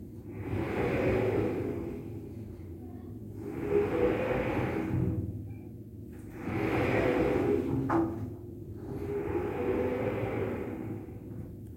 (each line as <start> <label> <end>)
3.4 opening and closing a sliding glass shower door 5.3
6.3 opening and closing a sliding glass shower door 11.3